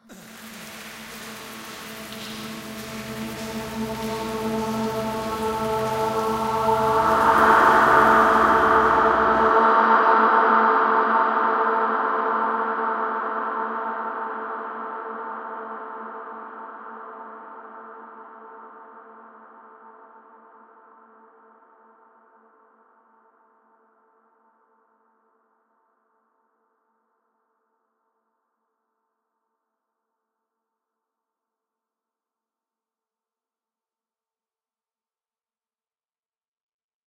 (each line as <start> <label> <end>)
0.0 horrorvoice 9.9
0.1 rain 9.6